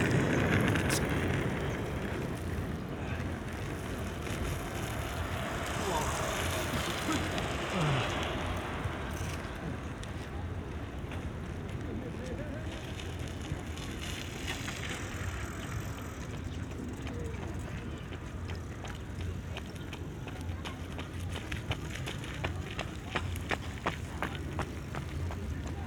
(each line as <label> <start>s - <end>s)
bikers 0.0s - 25.8s
pedestrians 0.0s - 25.8s
runners 0.0s - 25.8s